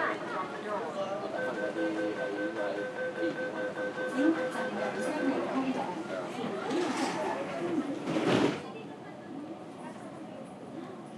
announcements 0.0 - 6.6
Mass Transit Railway system 0.0 - 11.1
people boarding and chatting 0.0 - 11.1
train closed the door 8.0 - 8.6

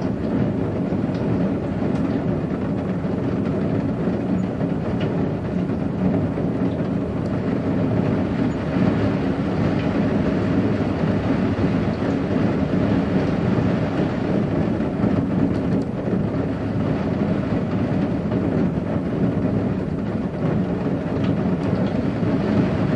Rain on a metal windowsill 0.0 - 22.9

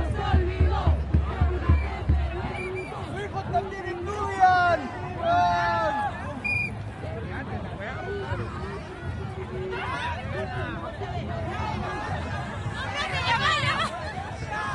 drums 0.0 - 3.8
crowd 0.0 - 14.7
drums 8.3 - 14.7

